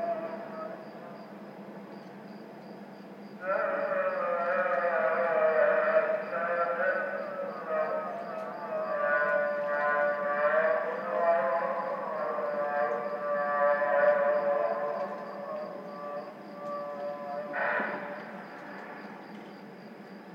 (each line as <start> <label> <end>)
0.0 Muezzin call to prayer 1.2
3.4 Muezzin call to prayer 19.5